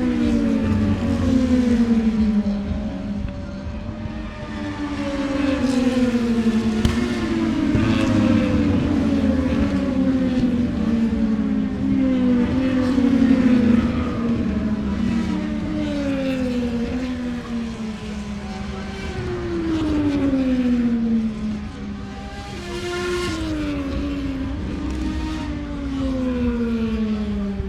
motorcycle grand prix 0:00.0 - 0:27.6

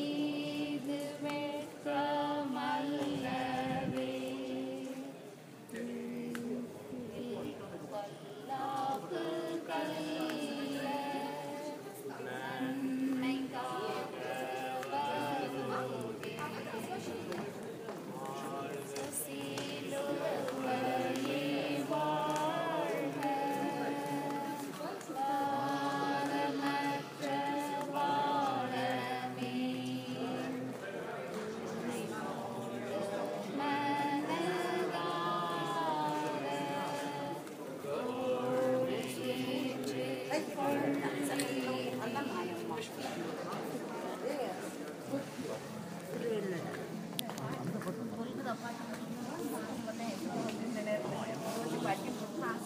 Pilgrim chanting 0:00.0 - 0:43.8

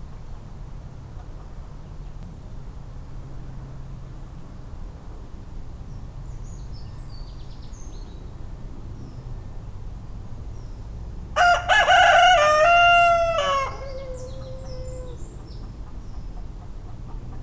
rooster shouting 0:11.4 - 0:15.3
hens are afraid 0:11.4 - 0:15.5

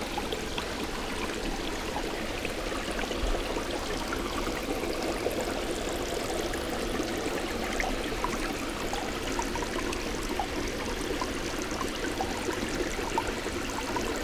water 0:00.0 - 0:14.2

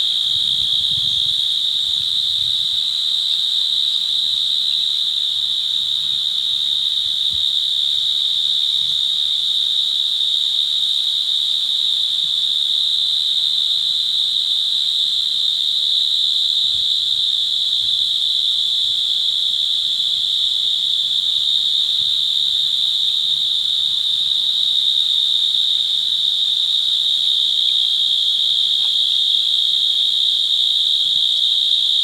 Field Crickets 0:00.0 - 0:32.0

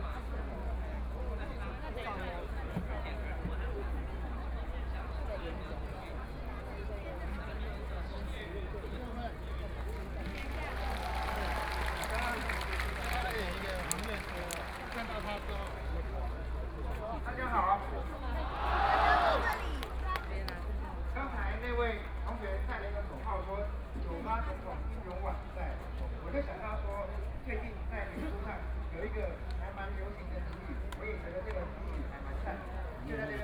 Protest 0:18.4 - 0:20.1

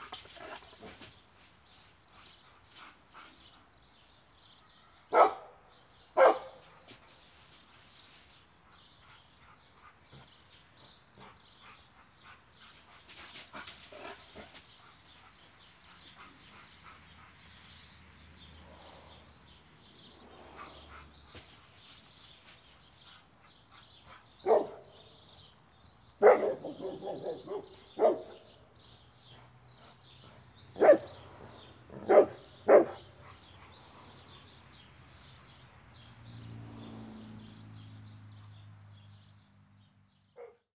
fenced dog 0:00.0 - 0:39.1
fenced dog 0:39.9 - 0:40.7

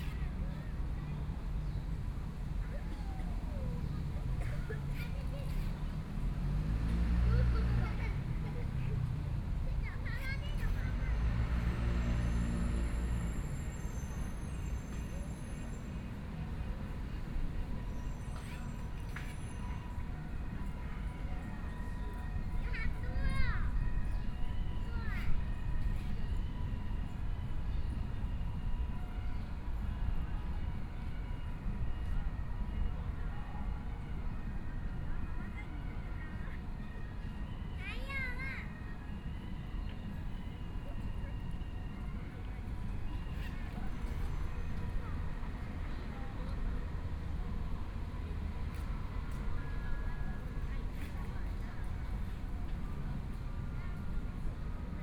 Traffic Sound 0:00.0 - 0:55.0
child's voice 0:04.4 - 0:05.9
child's voice 0:09.7 - 0:11.3
child's voice 0:22.6 - 0:23.8
child's voice 0:37.8 - 0:38.7

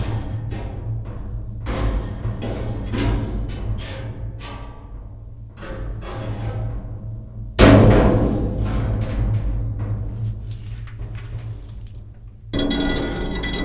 metal thing and plastic chair 0:10.2 - 0:13.6
dry leaves 0:10.2 - 0:12.0

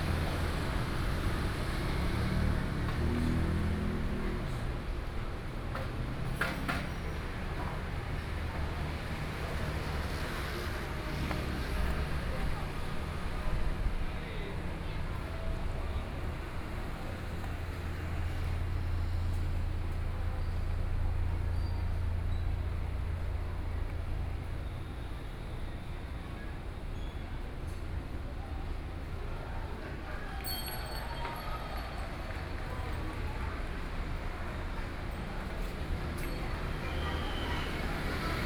Traffic Sound 0:00.0 - 0:38.4
Various shops voices 0:00.0 - 0:38.4
walking on the Road 0:00.0 - 0:38.4

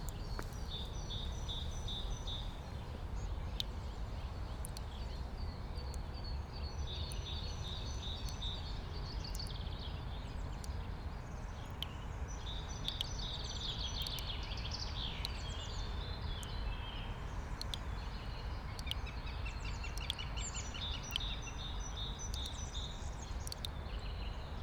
dripping tap 0:00.0 - 0:05.2
dripping tap 0:17.3 - 0:19.0

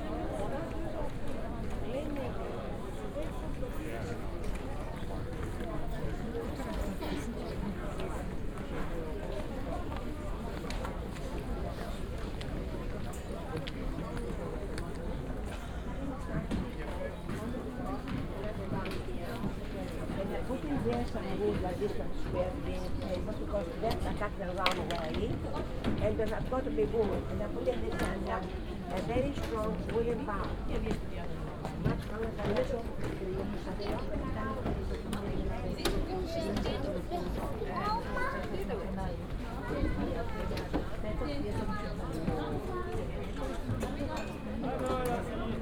steps of tourists boom and reverberate 0:00.0 - 0:45.6
tourists and guides of all nationalities move slowly 0:00.0 - 0:45.6

